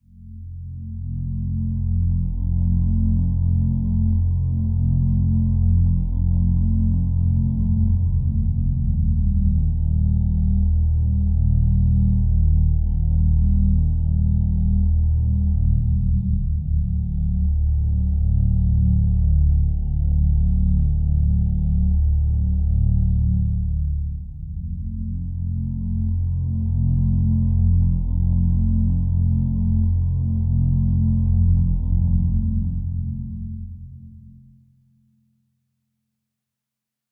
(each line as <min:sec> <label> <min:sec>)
0:00.1 bass drone pad 0:34.2